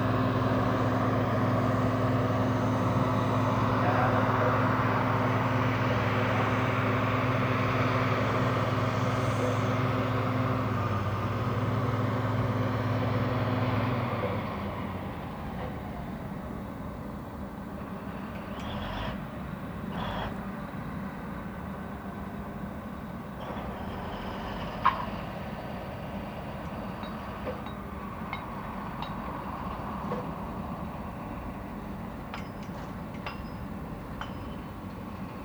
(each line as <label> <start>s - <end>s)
work on a giant excavating machine 0.0s - 35.4s